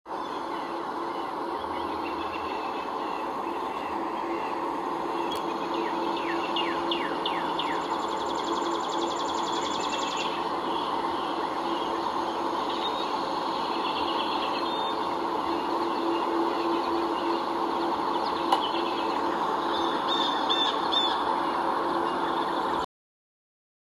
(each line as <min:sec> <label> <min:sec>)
0:00.1 birds chirping 0:22.8